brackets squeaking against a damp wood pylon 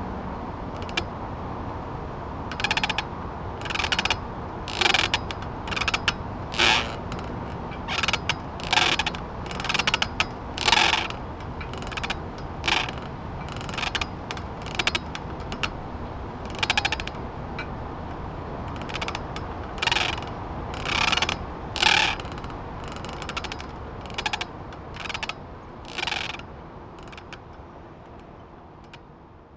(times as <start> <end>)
2.3 25.3